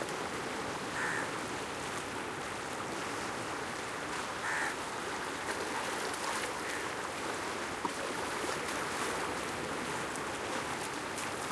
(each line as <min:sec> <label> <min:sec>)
0:00.0 gentle splashing along low wall 0:11.5